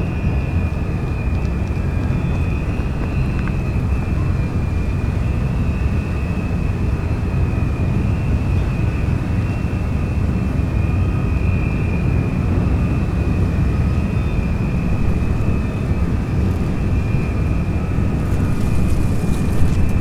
towboat moves empty coal barges away 0:00.0 - 0:07.3
squeaking sound of the ferris wheel 0:00.0 - 0:08.0
squeaking sound of the ferris wheel 0:13.6 - 0:20.0

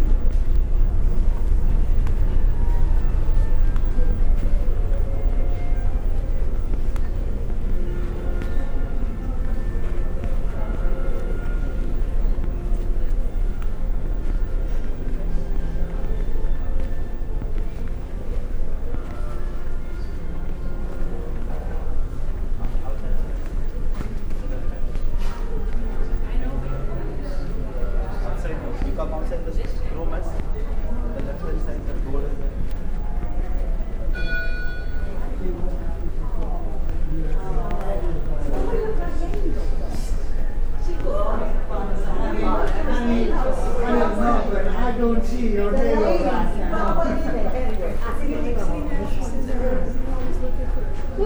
double chimes 0:34.0 - 0:36.2
voices are teenagers 0:35.1 - 0:51.2

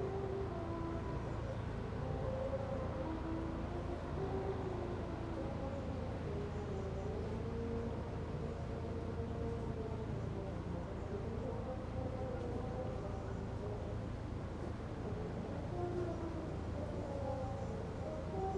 boats 0:00.0 - 0:18.5
waterplane lift off 0:00.0 - 0:18.5

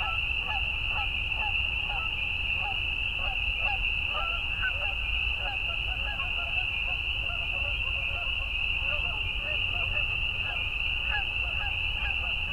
Canada Geese 0:00.0 - 0:12.5

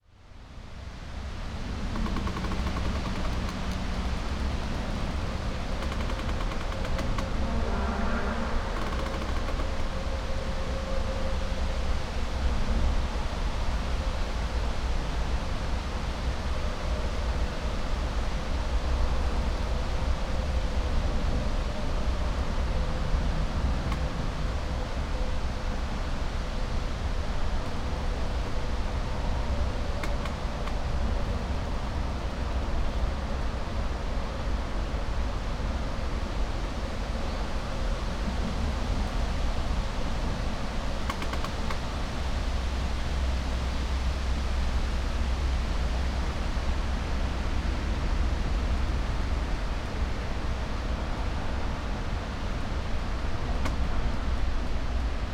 winds 0:00.0 - 0:55.3
distant traffic hum 0:00.6 - 0:12.4
creaks 0:01.6 - 0:10.3
distant traffic hum 0:20.3 - 0:55.3
creaks 0:29.8 - 0:33.0
creaks 0:41.0 - 0:41.8

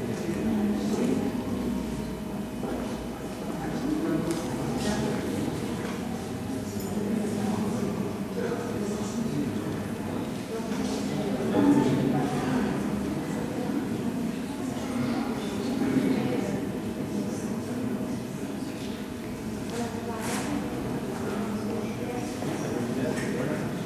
People waiting, talking 0:00.0 - 0:23.8

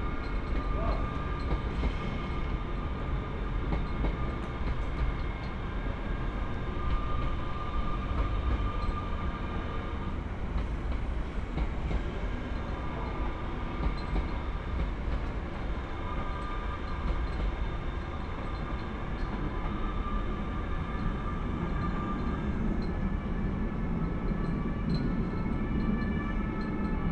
flags clinking in the wind 0:00.0 - 0:02.8
trains passing 0:00.0 - 0:27.1

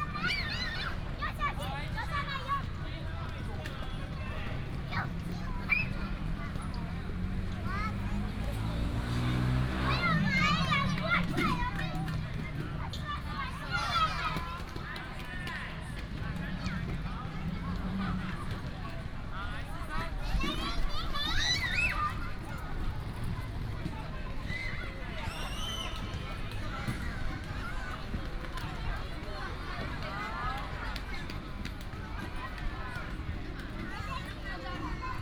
Traffic sound 0:00.0 - 0:35.2
children 0:00.0 - 0:35.2

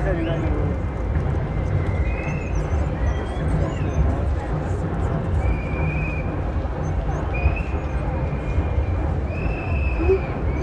anti nuclear power protesters 0:00.0 - 0:10.6

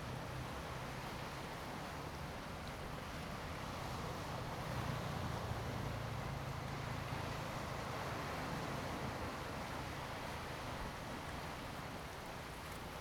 waves 0:00.0 - 0:13.0

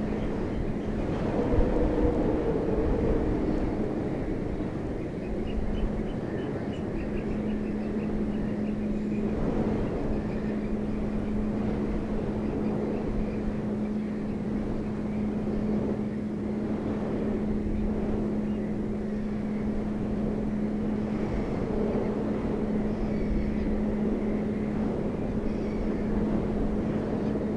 wind-blown railing 0:00.0 - 0:27.5

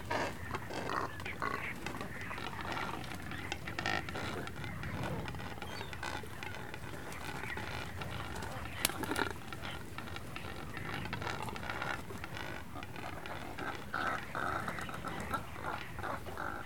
Cormorants 0:00.0 - 0:16.6
bird droppings 0:00.0 - 0:16.6
seagulls 0:00.0 - 0:16.6
small ocean birds 0:00.0 - 0:16.6

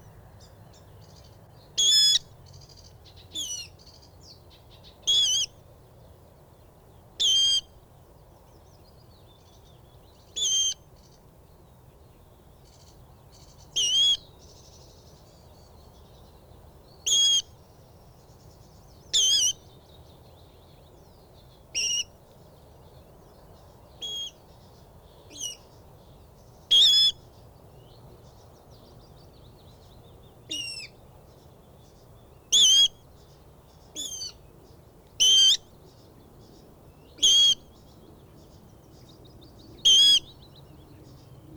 background noise 0:00.0 - 0:41.5
willow warbler 0:00.0 - 0:41.5

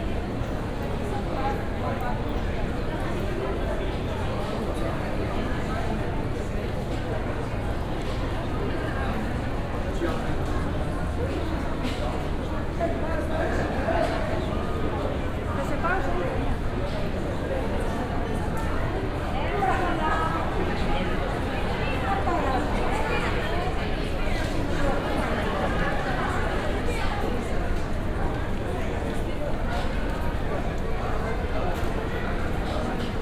lots of people on the station going towards and from the platforms 0:00.0 - 0:33.2

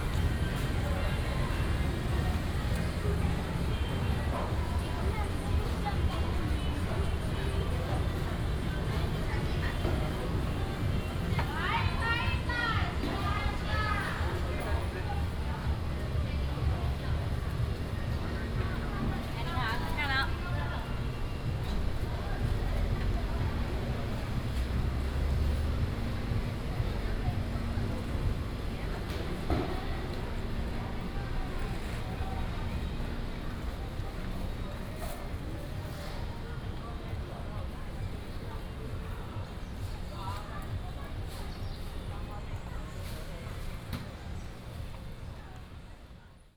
traffic sound 0:00.0 - 0:46.2

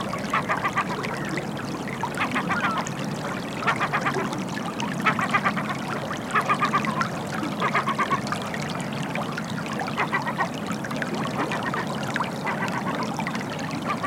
Water flowing out of lagoon 0:00.0 - 0:14.0

